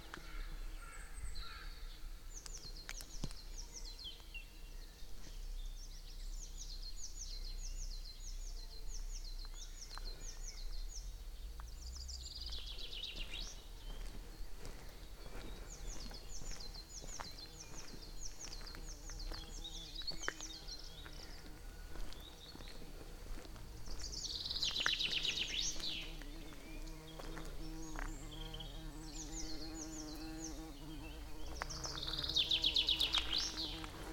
crows 0:00.1 - 0:01.9
bumblebee 0:23.2 - 0:34.1

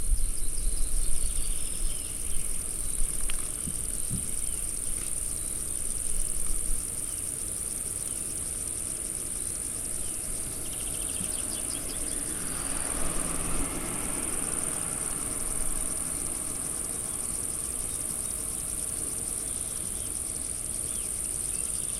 insects 0:00.0 - 0:21.9
birds 0:00.1 - 0:08.4

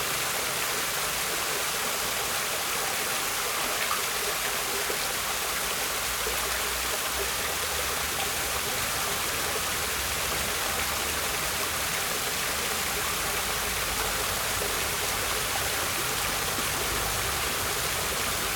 Luminous Fountain 0:00.0 - 0:18.5

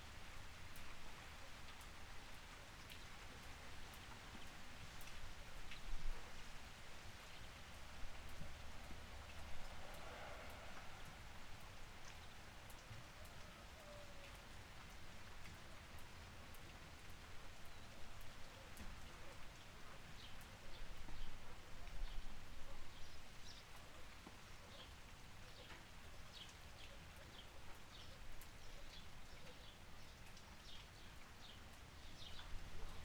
short rain shower 0:00.0 - 0:33.0

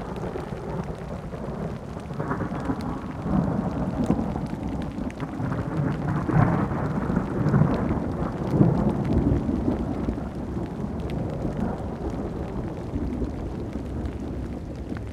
rain 0:00.0 - 0:15.1

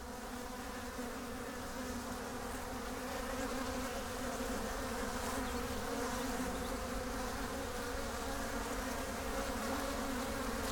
Bees 0:00.0 - 0:10.7

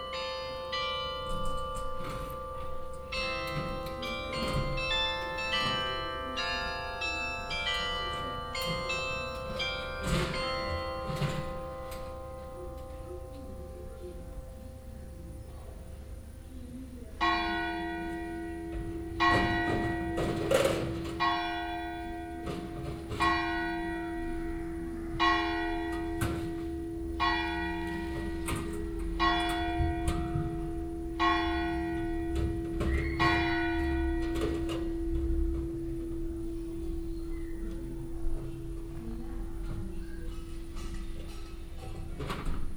bell melody 0:00.0 - 0:15.3
hour bells from the bell tower 0:00.0 - 0:42.7
people removing equipment 0:00.2 - 0:14.3
people removing equipment 0:17.2 - 0:42.7

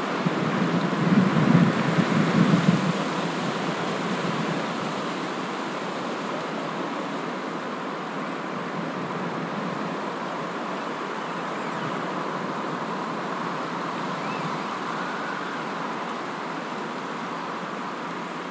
tree branches squeaking 0:11.0 - 0:12.2
tree branches squeaking 0:14.1 - 0:15.8

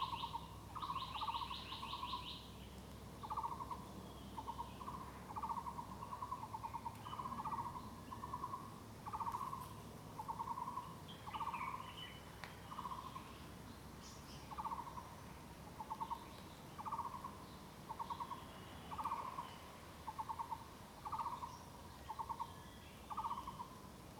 Birds singing 0:00.0 - 0:02.5
Birds singing 0:15.8 - 0:23.8

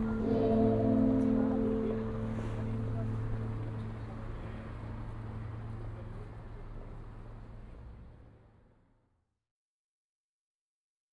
churchs bells 0:00.0 - 0:06.2

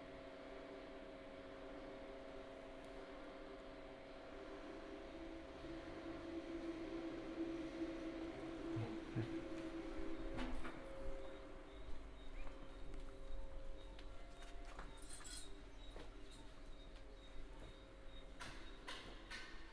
oscillating fans 0:00.6 - 0:14.0

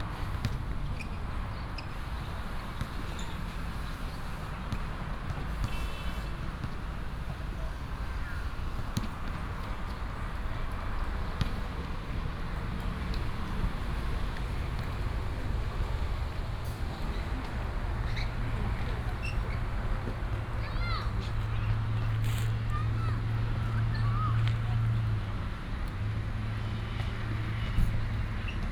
Traffic Sound 0:00.0 - 0:28.7
Play basketball 0:01.8 - 0:15.1

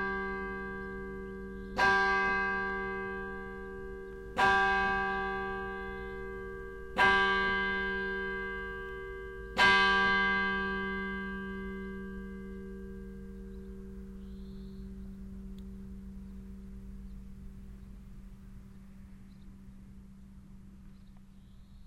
bells 0:00.0 - 0:18.0

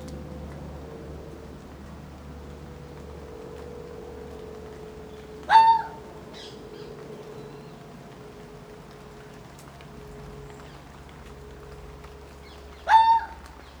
Planes are constantly overhead 0:00.0 - 0:13.8

